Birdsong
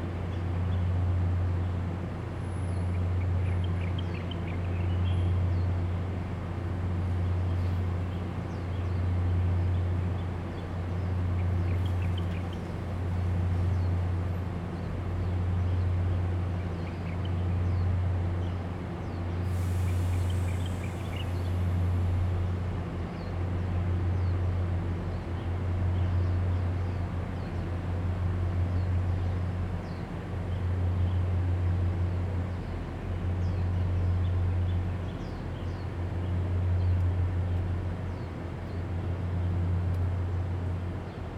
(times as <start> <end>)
32.5 39.6